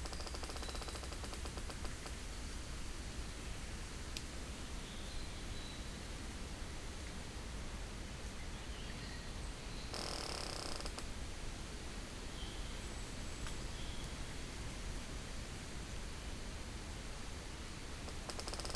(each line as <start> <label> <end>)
0.0 squeaking trees 2.2
0.0 wind 18.7
9.9 squeaking trees 11.0